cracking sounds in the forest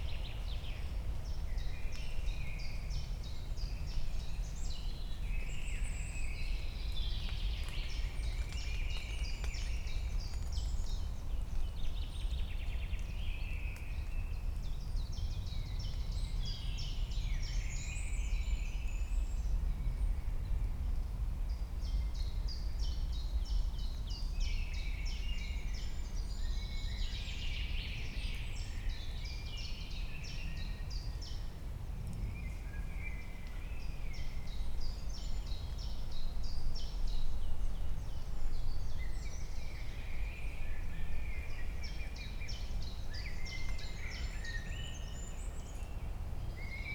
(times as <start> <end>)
6.8 14.8